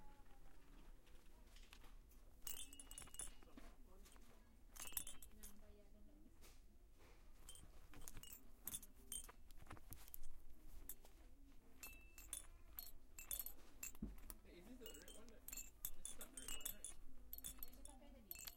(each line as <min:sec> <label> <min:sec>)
0:02.4 chimey plastic toys, rattling around 0:05.9
0:07.4 chimey plastic toys, rattling around 0:18.5